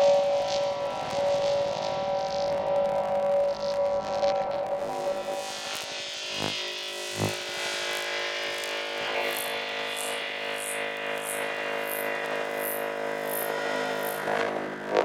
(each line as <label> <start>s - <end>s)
Synth Drone 6.2s - 7.4s
Synth Drone 10.6s - 15.0s